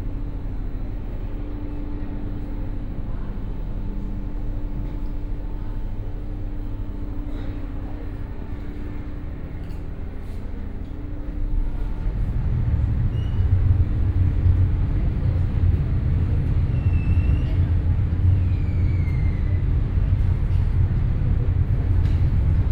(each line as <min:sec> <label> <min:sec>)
0:00.0 ferry boat departing 0:22.7